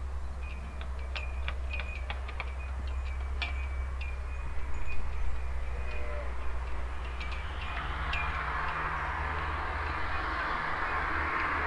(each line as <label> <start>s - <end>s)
dense morning traffic 0.0s - 11.6s
flags that flatter in the wind 0.0s - 11.6s
group of sheeps 0.0s - 11.6s
memorial bell 0.0s - 11.6s
ropes play the metal pole 0.4s - 4.2s